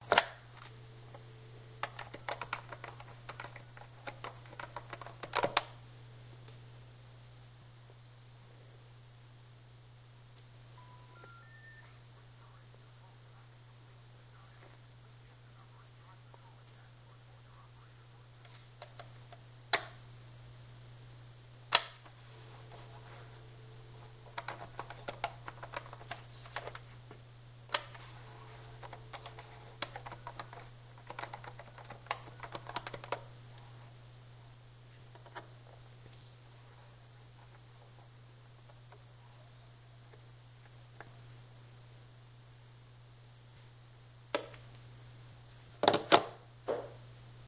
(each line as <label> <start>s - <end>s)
dial the wrong phone number 0.0s - 5.7s
dial the wrong phone number 10.8s - 12.0s
dial the wrong phone number 21.8s - 26.8s
dial the wrong phone number 27.7s - 33.3s